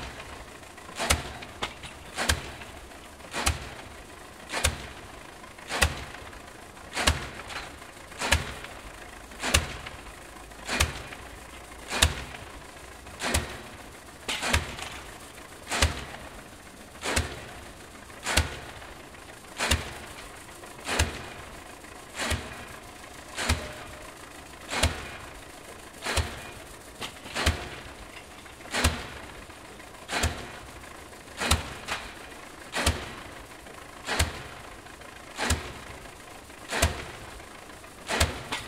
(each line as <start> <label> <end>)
0.0 tractor 38.6